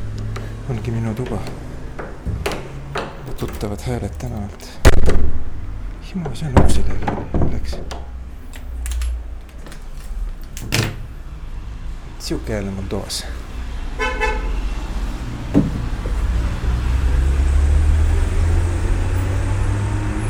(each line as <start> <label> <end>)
0.3 Walking & talking 4.9